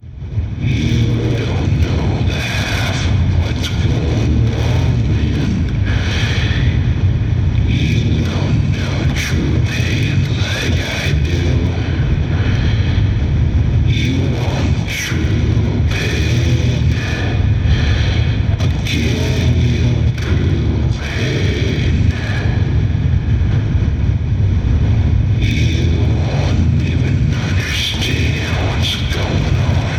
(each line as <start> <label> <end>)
0.0 voice sound I made using my deepest tone 29.9